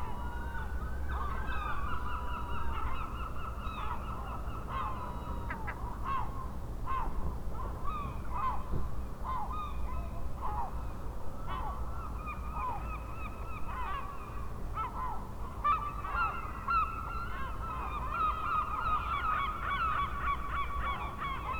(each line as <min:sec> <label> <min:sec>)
0:11.4 seagulls 0:21.5